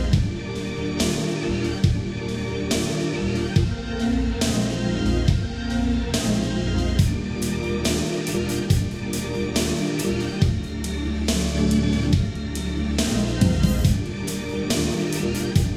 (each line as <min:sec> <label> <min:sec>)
0:07.0 drum loop 0:15.7